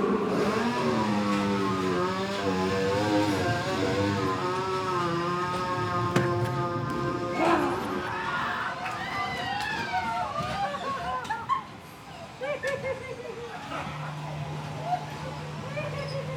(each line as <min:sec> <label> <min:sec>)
0:00.0 Rollercoaster ride 0:16.3
0:00.3 Creatures to scare visitors 0:08.8